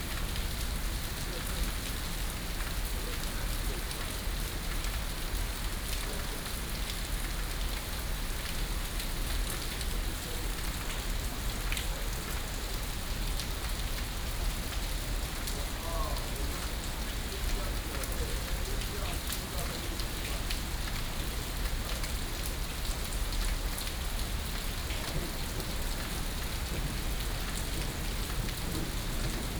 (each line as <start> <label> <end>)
25.0 Thunder 29.5